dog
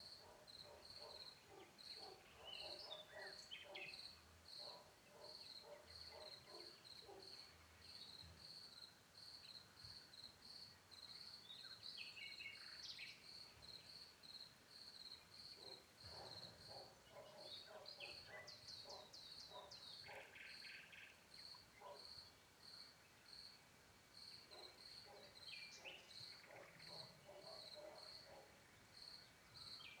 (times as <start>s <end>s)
0.2s 3.9s, 4.6s 7.4s, 15.6s 20.4s, 21.8s 22.0s, 24.5s 28.6s